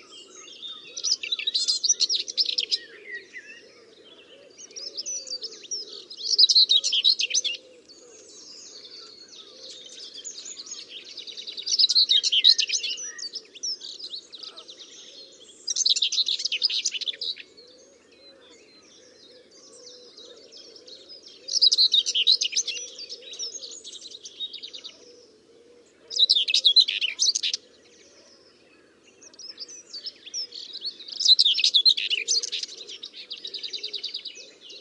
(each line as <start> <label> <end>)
0.0 Nightingale 34.8
0.0 green woodpecker 34.8
0.0 moorhen 34.8
0.0 pheasant 34.8
31.4 wood pigeon 34.8